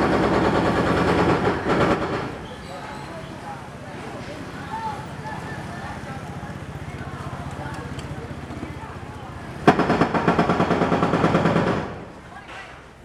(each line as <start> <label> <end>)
0.0 Construction noise 13.0